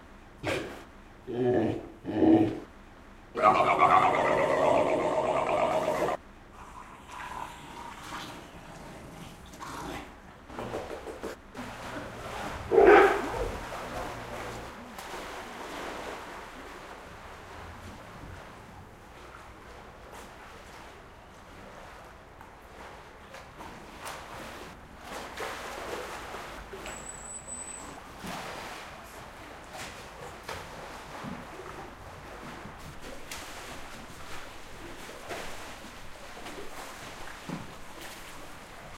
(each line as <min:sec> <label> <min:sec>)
0:03.4 Seal Vocalizations 0:10.1